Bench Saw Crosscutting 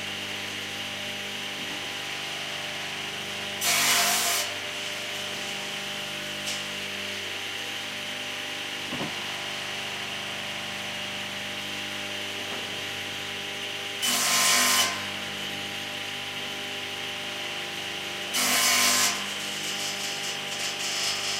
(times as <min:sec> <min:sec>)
0:03.6 0:07.1, 0:13.9 0:15.2, 0:18.2 0:21.3